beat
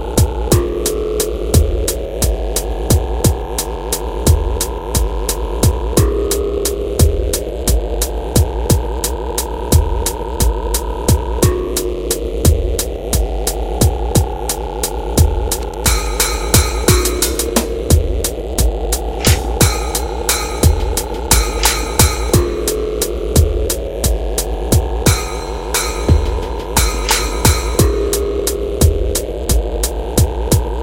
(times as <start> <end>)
15.2 30.8